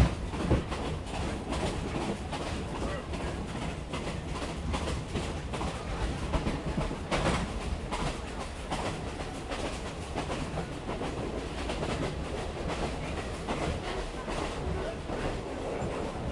Train 0.0 - 16.3
rails 0.0 - 16.3
people 1.2 - 16.3

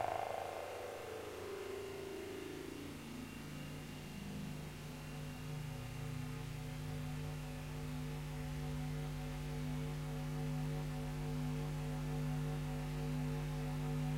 Drone 0.0 - 11.8

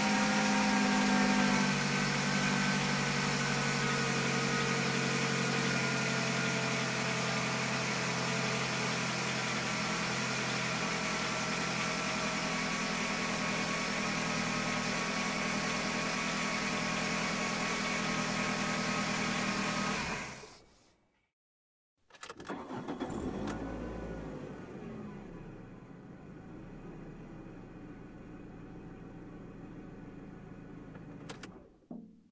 Idle 0.0 - 20.6
Idle 22.2 - 31.7

